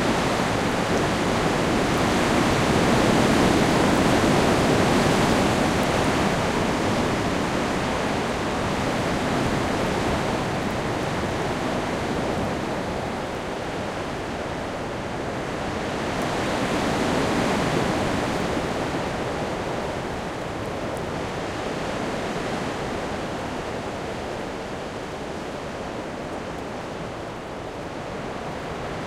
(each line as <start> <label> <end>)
0.0 occasional raindrops 22.2
0.0 wind 29.0